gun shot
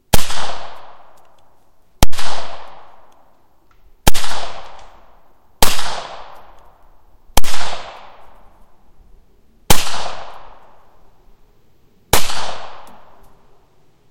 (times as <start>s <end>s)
0.1s 1.2s, 2.0s 3.1s, 4.0s 5.0s, 5.6s 6.6s, 7.4s 8.4s, 9.7s 10.7s, 12.1s 13.2s